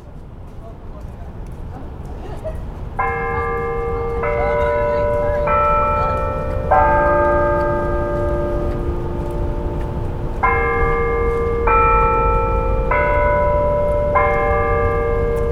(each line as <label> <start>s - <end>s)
bells ring 2.0s - 15.5s